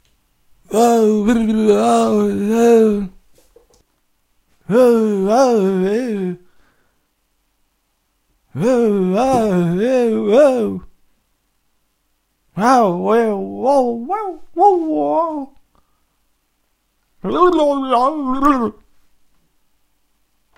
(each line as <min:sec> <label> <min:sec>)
0:00.6 dazed and confused voice 0:03.8
0:04.5 dazed and confused voice 0:06.6
0:08.5 dazed and confused voice 0:11.0
0:12.5 dazed and confused voice 0:15.8
0:17.2 dazed and confused voice 0:19.0